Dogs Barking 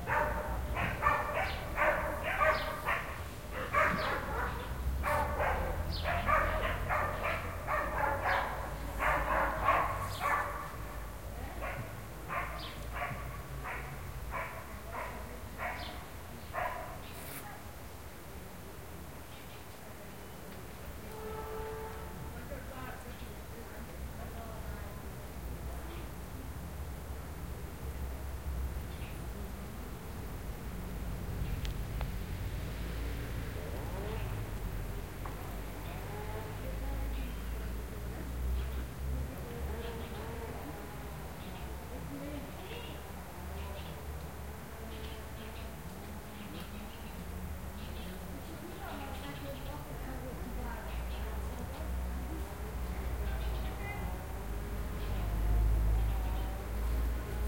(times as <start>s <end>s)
0.0s 17.0s